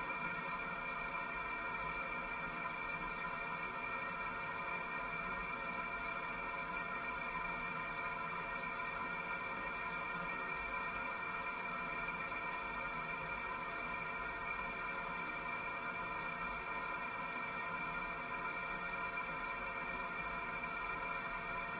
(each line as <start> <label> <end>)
0.0 water 21.7